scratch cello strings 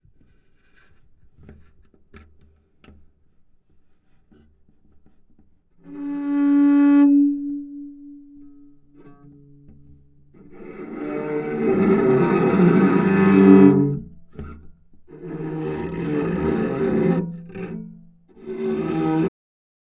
3.9s 19.3s

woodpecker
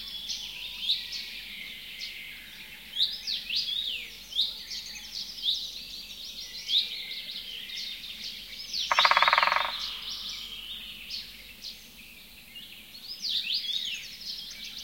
8.8s 10.6s

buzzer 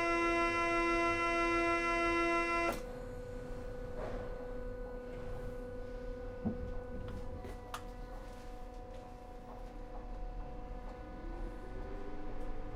0.0s 2.8s

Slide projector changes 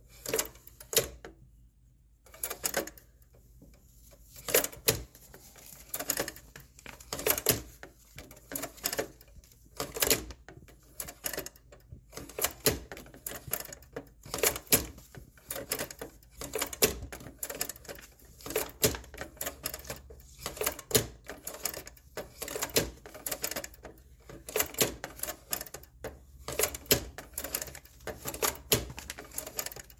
12.2s 29.9s

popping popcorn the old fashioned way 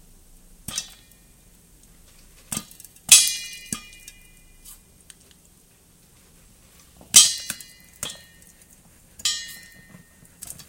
0.6s 1.2s, 2.2s 4.2s

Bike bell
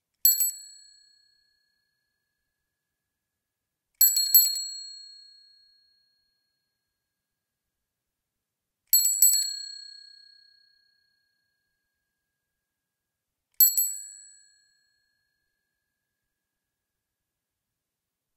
0.2s 2.4s, 4.0s 6.9s, 8.9s 11.9s, 13.6s 15.7s

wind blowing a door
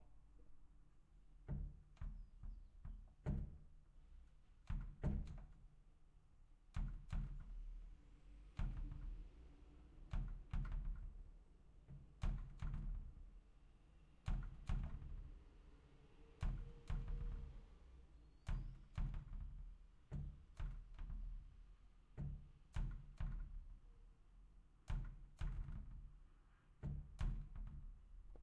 14.2s 21.4s

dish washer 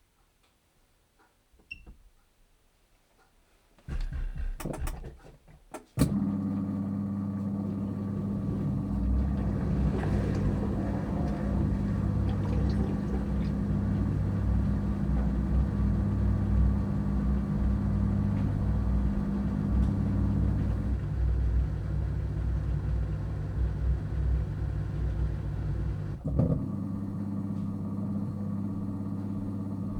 6.0s 21.0s

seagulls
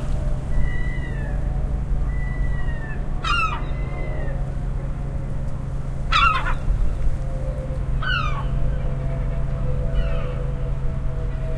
0.0s 4.5s, 6.0s 10.7s

